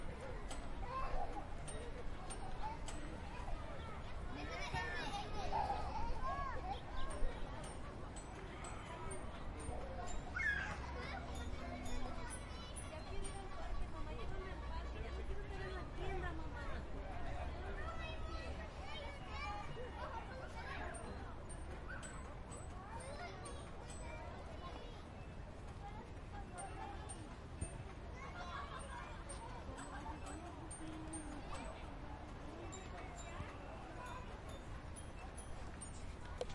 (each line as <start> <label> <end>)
0.0 Kids Playing 16.6
25.8 Kids Playing 36.5